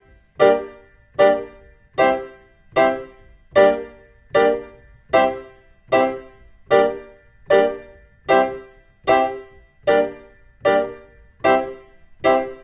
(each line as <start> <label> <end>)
0.0 PIANO 12.6